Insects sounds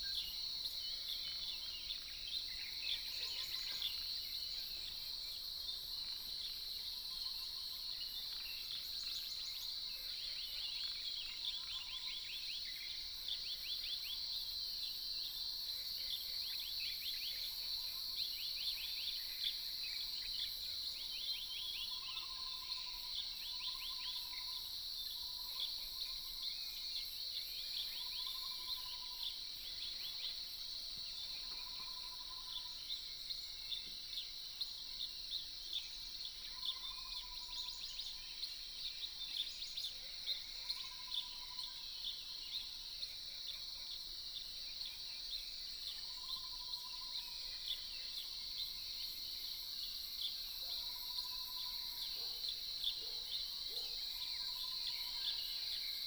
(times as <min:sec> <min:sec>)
0:16.1 0:56.0